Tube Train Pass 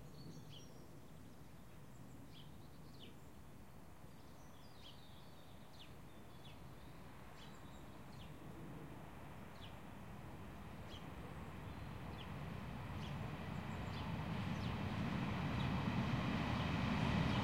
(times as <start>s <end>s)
10.0s 17.4s